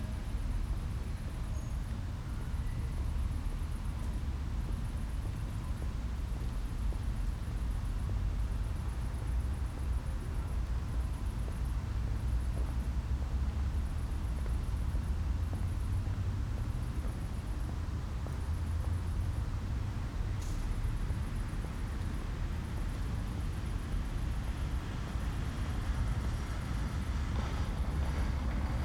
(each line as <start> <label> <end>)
0.0 distant tram 28.8
0.0 qiet traffic 28.8
0.0 Crickets 28.8
13.2 passers-by 28.8